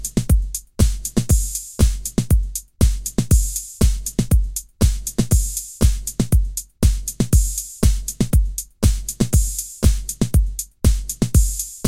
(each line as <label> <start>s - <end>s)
Italo Beat 0.0s - 11.8s